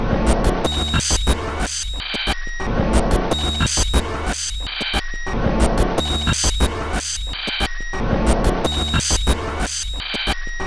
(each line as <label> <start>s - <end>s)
Drum 0.2s - 10.6s